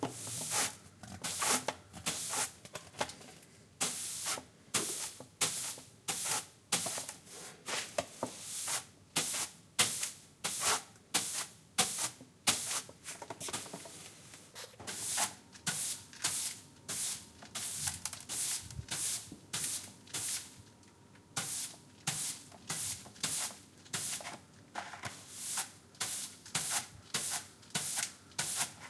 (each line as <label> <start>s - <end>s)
floor brush in action 0.0s - 2.6s
floor brush in action 3.8s - 20.6s
floor brush in action 21.4s - 24.4s
floor brush in action 25.1s - 28.8s